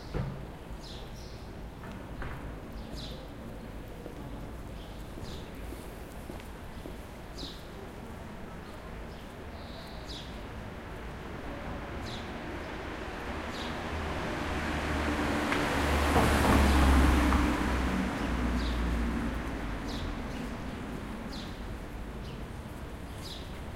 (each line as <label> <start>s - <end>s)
Traffic 0.0s - 23.7s
birds 0.0s - 14.4s
people walking 1.6s - 11.4s
birds 18.2s - 23.7s